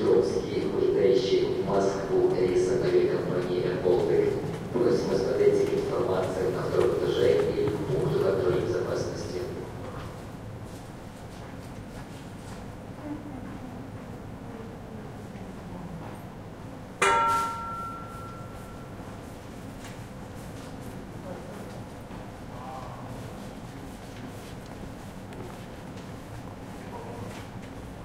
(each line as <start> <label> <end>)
0.0 People 10.1